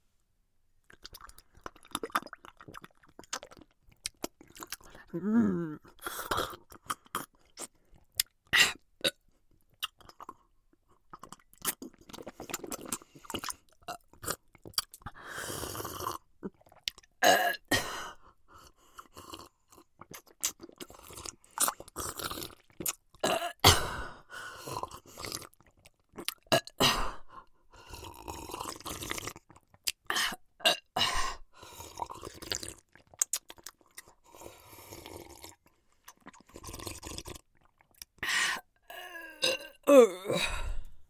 23.2s burping 23.9s
38.9s burping 40.9s

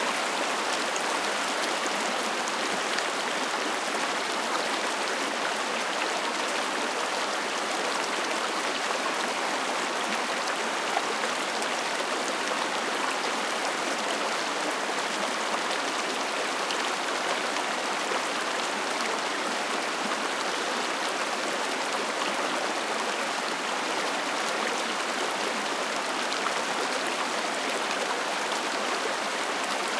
0.0s Creek 29.9s

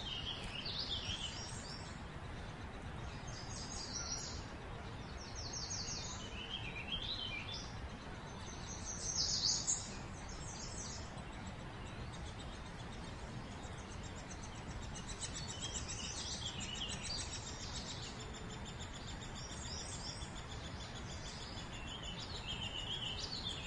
0.0s Birds 23.6s

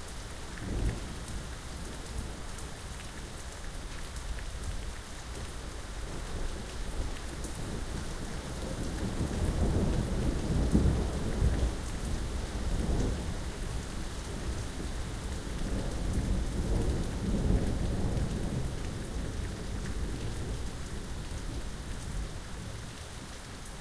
0.0s Rain 23.8s

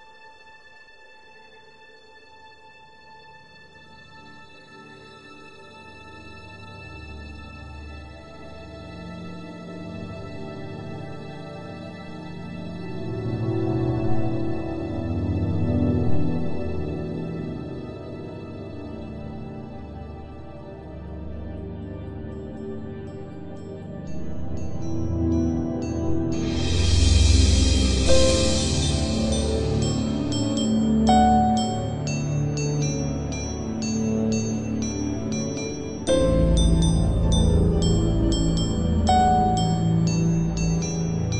0.0s piano 41.3s
0.0s strings 41.3s
24.1s bell 41.3s

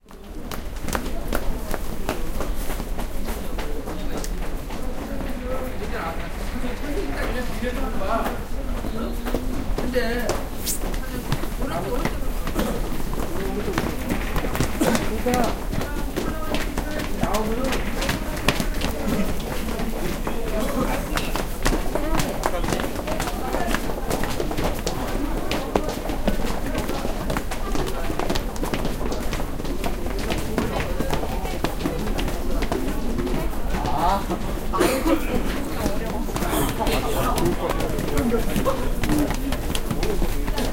0.0s Footsteps stairs 40.7s
0.1s voice 40.7s

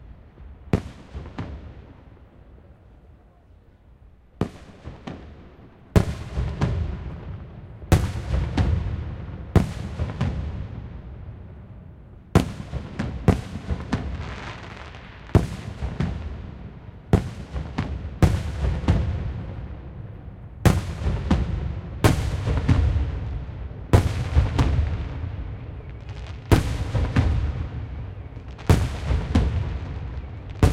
0.0s fireworks 3.6s
4.3s fireworks 30.7s

